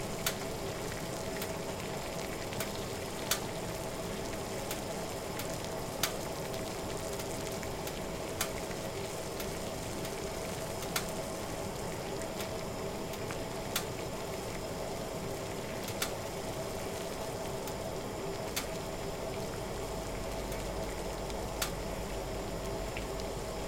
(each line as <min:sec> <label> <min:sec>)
0:00.0 Water Boiling 0:23.6
0:15.8 Cracking sounds from the oven 0:16.2